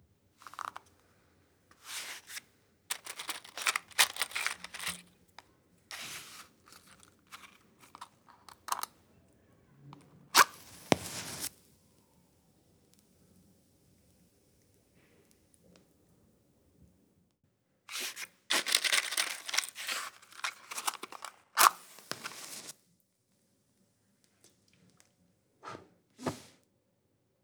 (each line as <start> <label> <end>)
0.4 move the matches 0.8
0.4 Open a box of matches 0.9
1.7 move the matches 5.0
1.7 Open a box of matches 5.1
1.8 close the box 5.0
5.9 Open a box of matches 8.9
5.9 close the box 8.9
5.9 move the matches 8.9
10.4 close the box 11.5
10.4 move the matches 11.6
10.4 Open a box of matches 11.6
10.4 light the match 11.6
17.9 close the box 22.7
17.9 Open a box of matches 22.7
17.9 move the matches 22.7